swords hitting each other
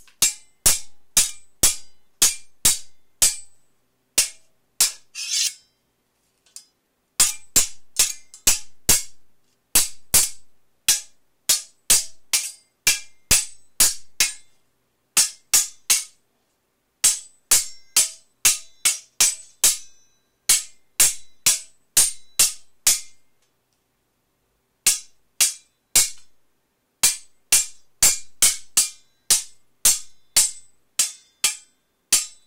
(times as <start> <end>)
0.1 3.5, 4.2 5.7, 7.2 9.1, 9.8 14.5, 15.2 16.2, 24.9 26.3, 27.0 32.4